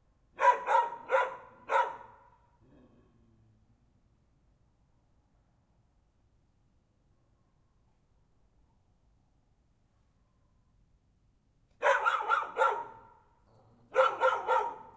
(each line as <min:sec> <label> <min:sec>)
0:00.4 dogs are barking 0:02.3
0:11.8 dogs are barking 0:13.2
0:13.9 dogs are barking 0:14.9